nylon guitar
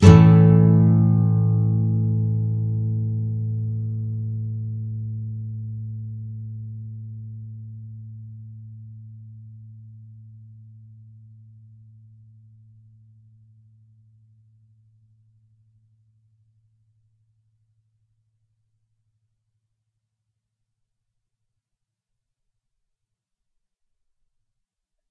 0.0s 11.2s

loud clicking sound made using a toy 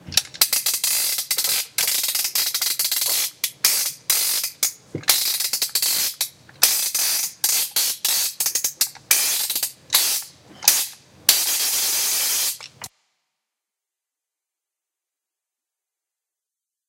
0.1s 12.9s

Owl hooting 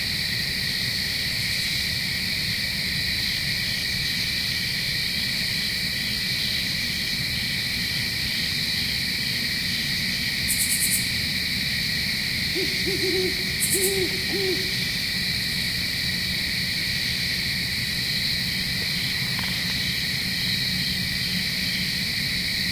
12.4s 15.2s

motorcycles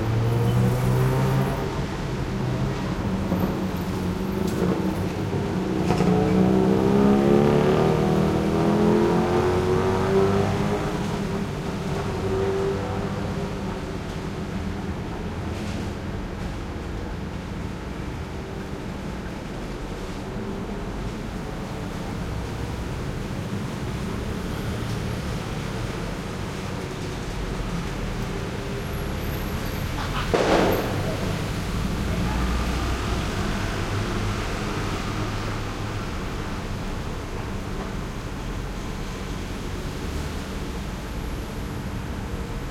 0.0s 14.8s

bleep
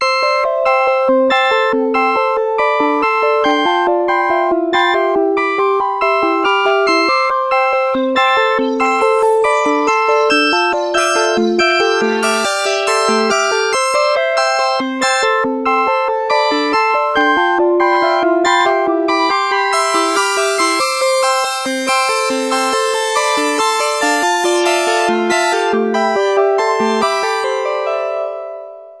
8.0s 14.9s, 19.7s 25.8s

